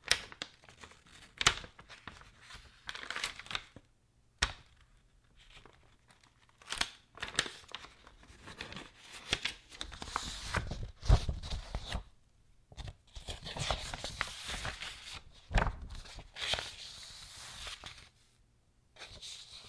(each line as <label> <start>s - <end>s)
Pages Turning 0.1s - 3.8s
Pages Turning 5.4s - 12.1s
Pages Turning 12.8s - 18.1s